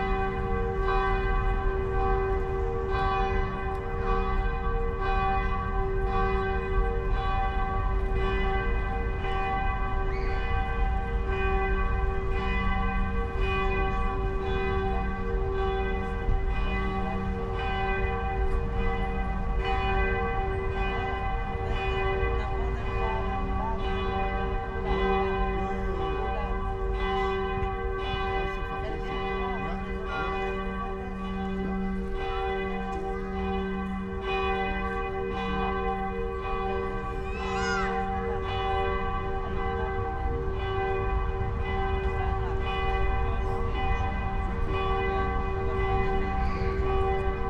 0.0s churchbells 47.4s

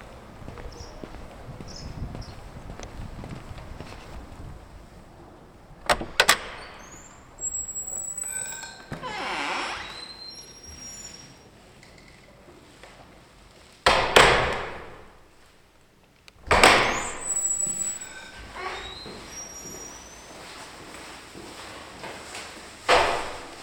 0.0s church door 11.4s
7.4s bells 8.9s
13.8s church door 15.4s
16.4s church door 20.3s
22.8s church door 23.6s

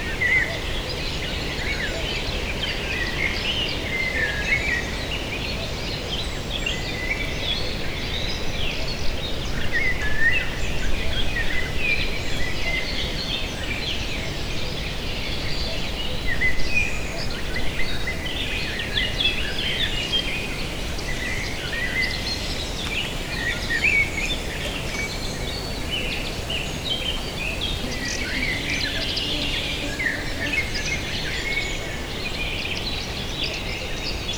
24.6s mosquitos 32.4s

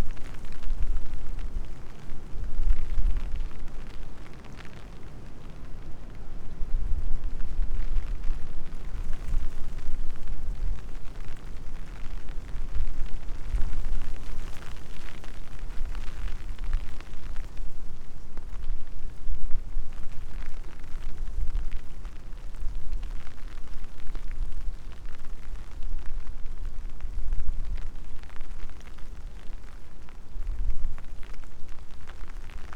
0.0s soft rain 32.7s
0.0s wind 32.7s

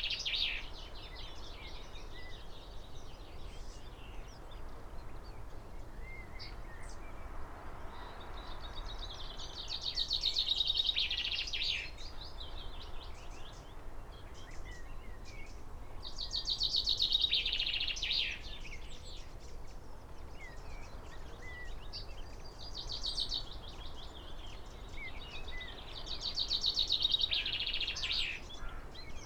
0.0s wren song and calls almost every minute 29.2s
7.8s willow warbler 29.2s
20.4s blackbird 29.2s

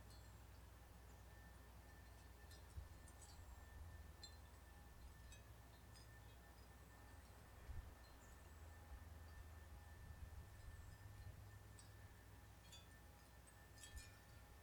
0.0s Birds 9.8s
0.0s Oystershell windchimes 14.6s

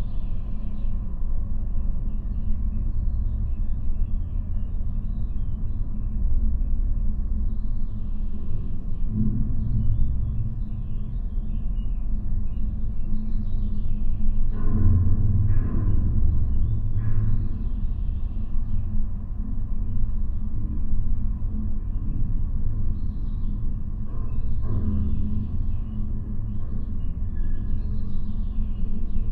0.0s observation tower 29.3s

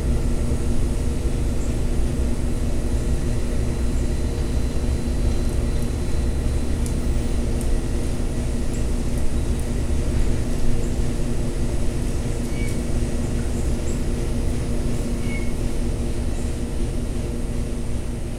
12.5s owl 12.8s
15.2s owl 15.6s

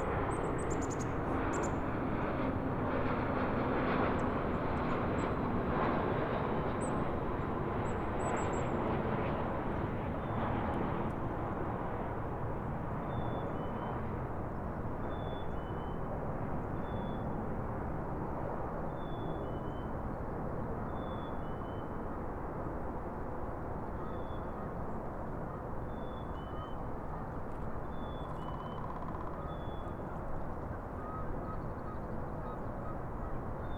0.0s Landing planes 15.2s
25.5s wildlife 33.7s

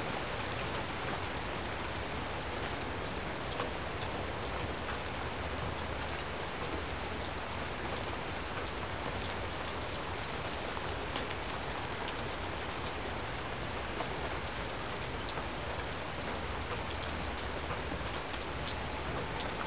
0.0s Rain falling on the trees, deck and ground 19.6s

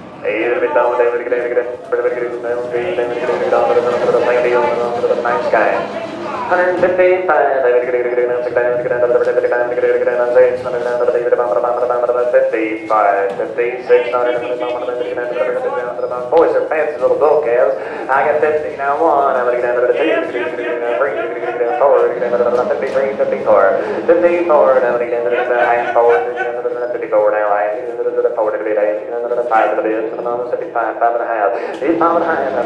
0.0s cattle is passing by 30.5s
0.0s people are bidding 32.6s
0.2s man is talking 32.6s

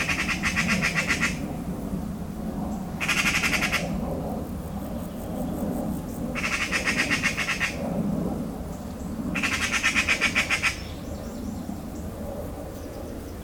0.0s anxious magpie 1.4s
3.0s anxious magpie 3.9s
6.3s anxious magpie 7.8s
9.3s anxious magpie 11.0s

